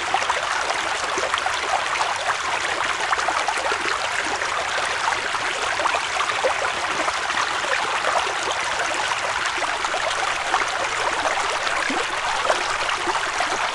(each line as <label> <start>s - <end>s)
mountain stream 0.0s - 13.7s